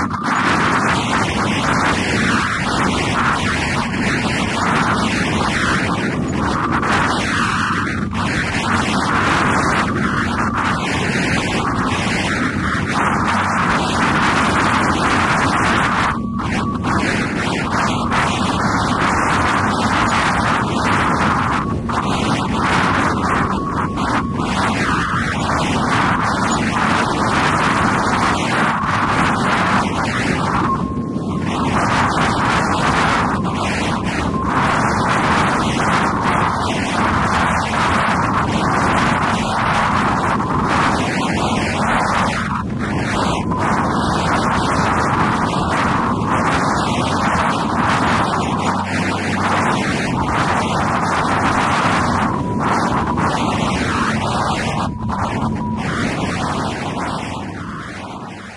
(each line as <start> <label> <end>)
0.0 Wind with radio interference 58.5